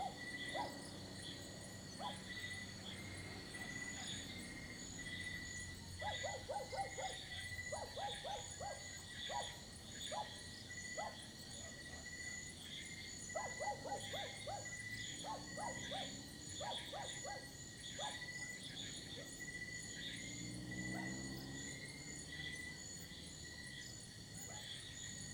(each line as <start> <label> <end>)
0.0 dogs barking 0.9
0.0 motorbikes 6.4
0.0 Birds 19.6
0.0 insects 25.3
0.0 lizards 25.3
6.0 dogs barking 10.4
11.0 dogs barking 11.2
13.3 dogs barking 18.3
15.1 motorbikes 25.3